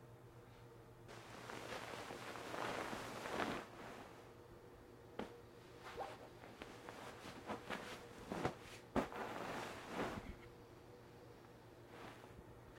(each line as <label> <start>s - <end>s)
person moving around while sleeping 1.1s - 4.4s
person moving around while sleeping 5.1s - 10.5s
person moving around while sleeping 11.8s - 12.7s